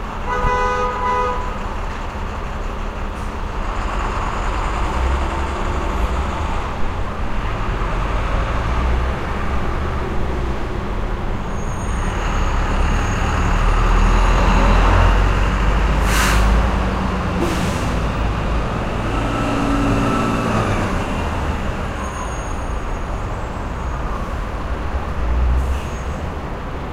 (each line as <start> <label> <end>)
0.0 traffic travelling north and south 26.9
0.2 horns 1.6
11.4 squealing brakes 14.8
12.1 truck unloading goods onto sidewalk 22.8
18.9 squealing brakes 24.4
25.6 squealing brakes 26.4